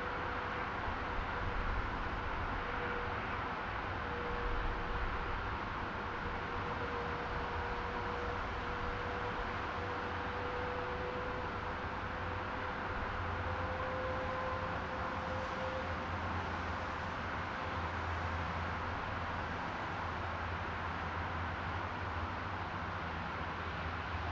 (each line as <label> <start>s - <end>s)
Highway 0.0s - 24.3s